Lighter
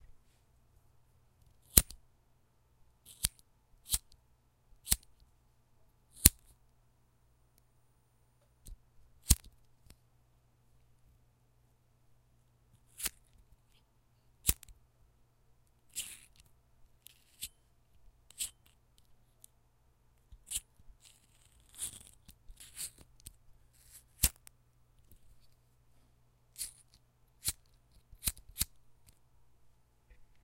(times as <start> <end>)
1.7 2.0, 3.1 4.2, 4.8 5.1, 6.2 6.5, 14.4 14.7, 26.6 28.8